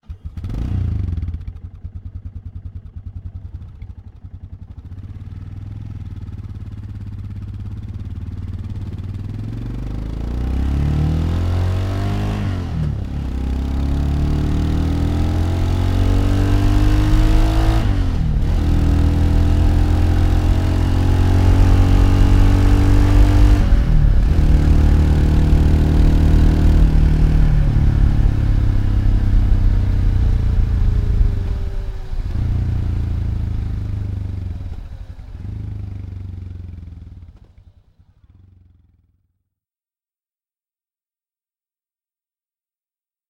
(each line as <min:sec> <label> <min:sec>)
0:00.0 single cylinder moto engine 0:39.2